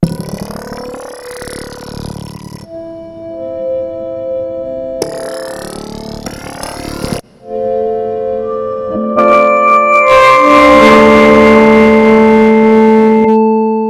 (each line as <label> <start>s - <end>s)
Acid Like Bass 0.0s - 2.8s
Random Synthy Sounds 0.0s - 3.1s
Chords 2.5s - 13.8s
Acid Like Bass 5.0s - 7.2s
Random Synthy Sounds 5.0s - 7.2s
Rhythms 5.0s - 7.2s
Random Synthy Sounds 10.2s - 13.4s
Acid Like Bass 10.2s - 13.4s